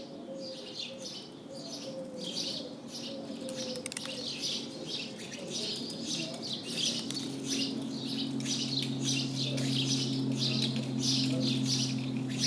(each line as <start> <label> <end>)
0.0 sparrows are singing 12.4